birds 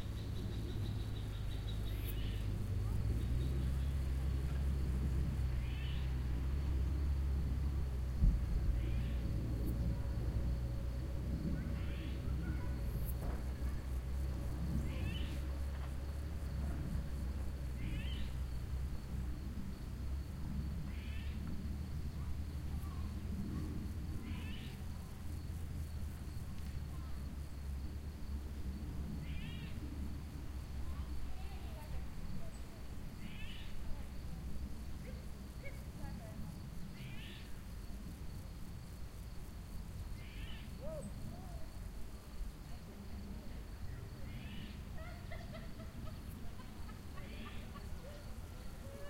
0.0s 6.4s, 8.6s 9.8s, 11.4s 19.2s, 44.2s 49.0s

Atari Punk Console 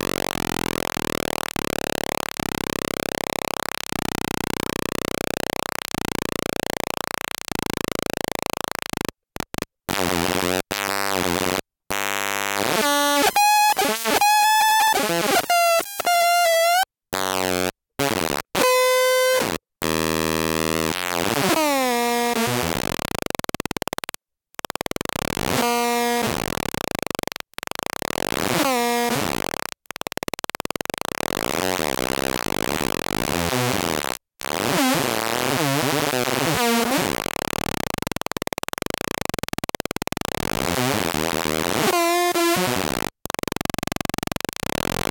12.6s 16.9s, 36.2s 45.1s

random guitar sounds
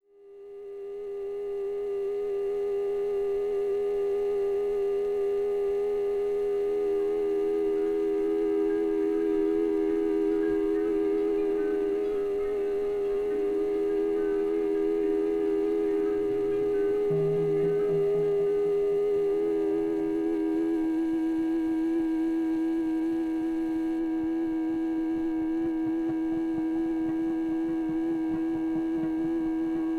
12.3s 19.6s

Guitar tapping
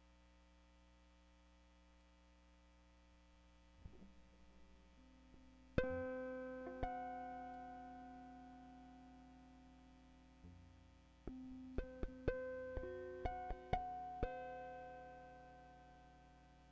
3.8s 8.2s, 11.3s 14.8s

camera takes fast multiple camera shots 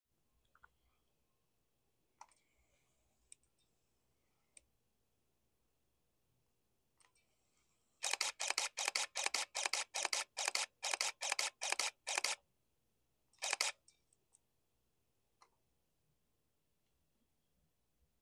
8.0s 12.4s, 13.4s 13.8s

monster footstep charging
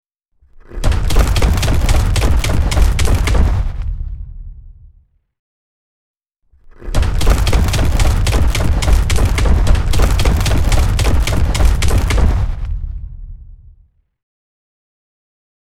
0.7s 4.5s, 6.9s 13.3s

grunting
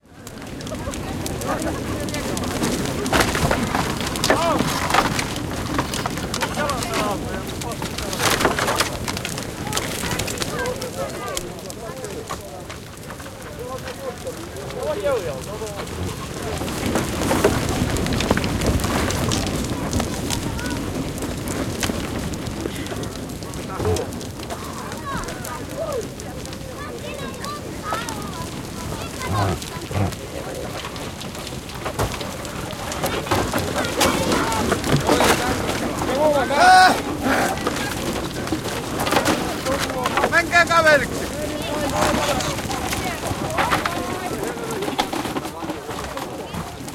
29.1s 30.2s

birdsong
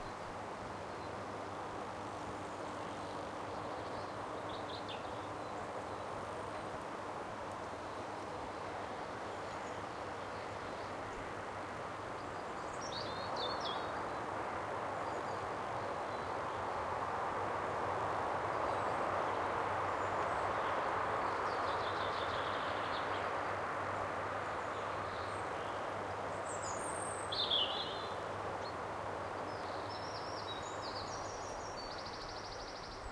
12.2s 14.3s, 24.4s 33.1s

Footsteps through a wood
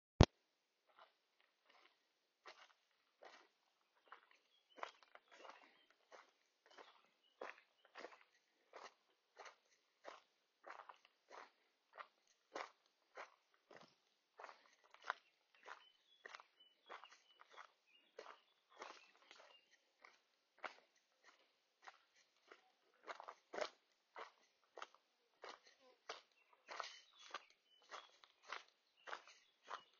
12.0s 29.9s

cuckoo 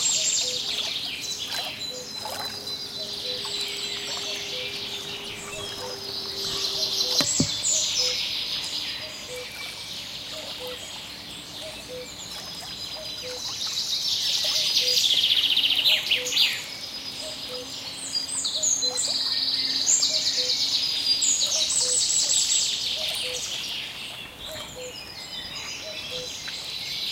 0.0s 8.2s, 9.0s 10.9s, 11.6s 12.2s, 13.0s 13.6s, 14.4s 15.0s, 17.2s 17.7s, 21.4s 22.4s, 23.0s 23.5s, 24.4s 25.0s, 25.7s 26.4s

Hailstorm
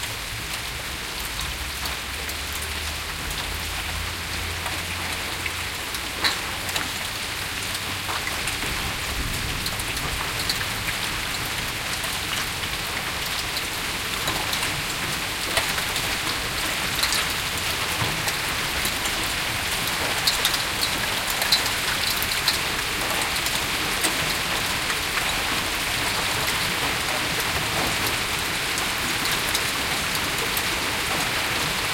7.9s 31.9s

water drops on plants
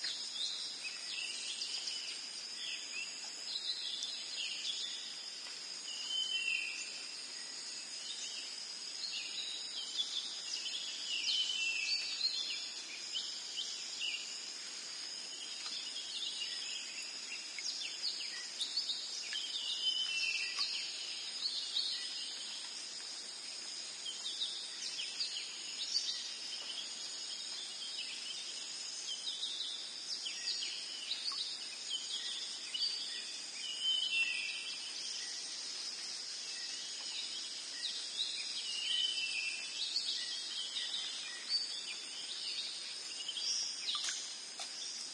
43.9s 44.8s

